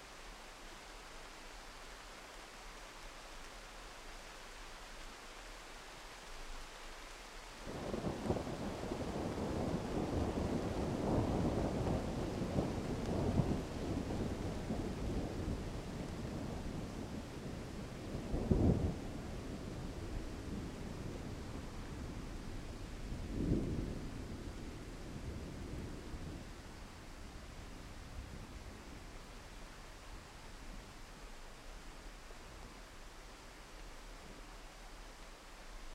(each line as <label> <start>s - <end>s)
rain 0.0s - 35.9s
thunders in the distance 7.7s - 31.5s